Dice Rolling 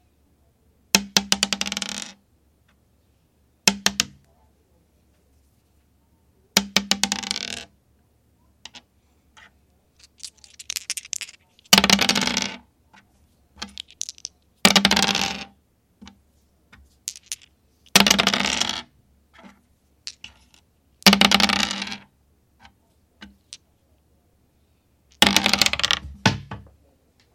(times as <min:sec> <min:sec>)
0:01.0 0:02.2, 0:06.6 0:07.7, 0:08.6 0:12.6, 0:13.6 0:22.1, 0:25.1 0:26.2